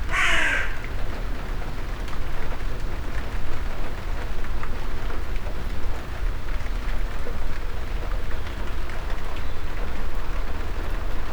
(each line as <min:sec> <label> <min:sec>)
0:00.0 shower of rain 0:11.3
0:00.1 crows 0:01.0